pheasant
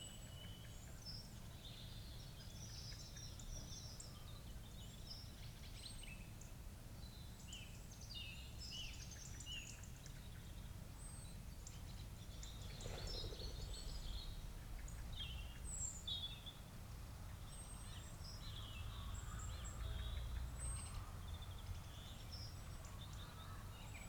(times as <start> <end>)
11.3 16.3